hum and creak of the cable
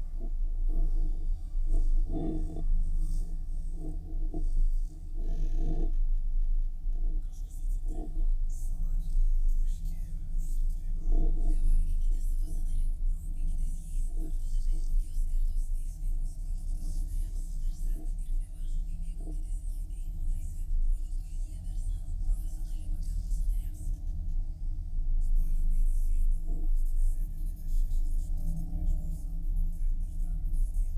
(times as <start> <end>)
0.0 11.0